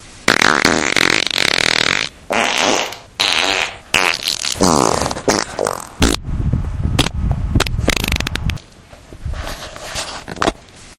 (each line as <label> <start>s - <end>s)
musical farts 0.3s - 6.2s